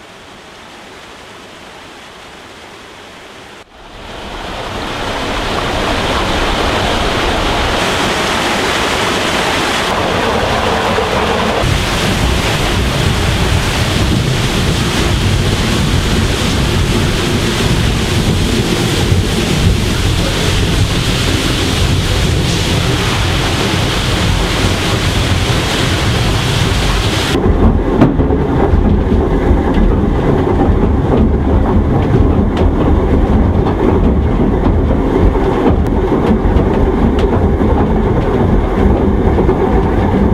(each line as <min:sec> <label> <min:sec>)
0:03.1 watermill 0:40.3